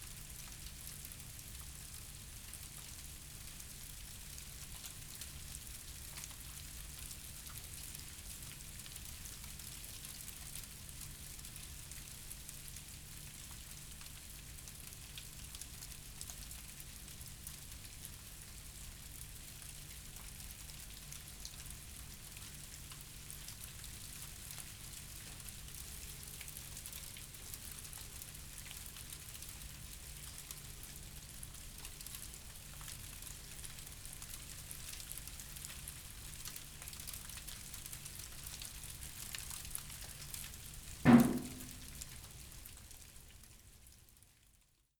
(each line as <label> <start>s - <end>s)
light ice rain 0.0s - 41.9s